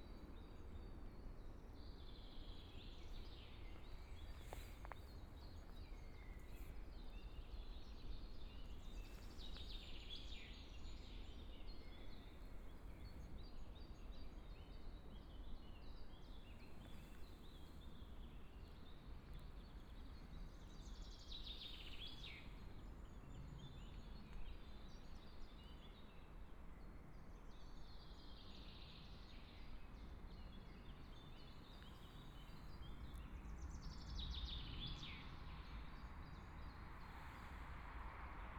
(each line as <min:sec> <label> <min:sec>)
0:00.0 birds 0:26.4
0:00.0 Trees 0:38.5
0:27.0 birds 0:37.7